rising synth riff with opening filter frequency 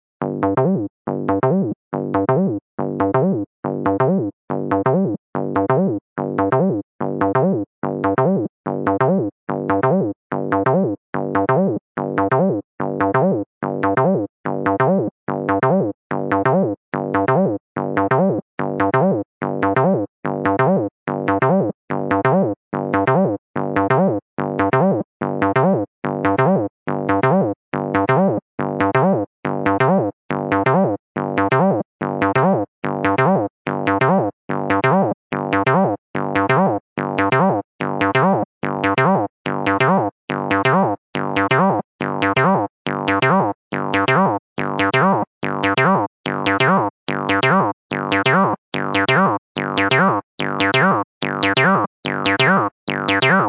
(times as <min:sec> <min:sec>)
0:43.1 0:53.4